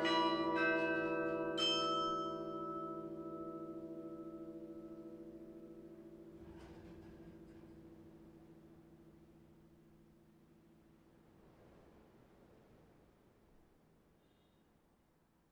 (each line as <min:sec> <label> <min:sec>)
0:00.0 Carillon 0:09.2